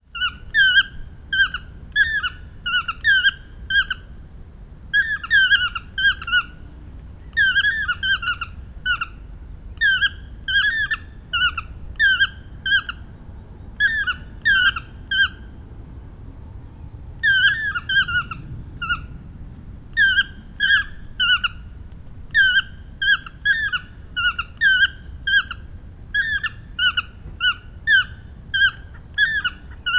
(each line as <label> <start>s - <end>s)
Toucans calling 5.0s - 9.2s
Toucans calling 17.2s - 19.1s
Toucans calling 20.0s - 29.9s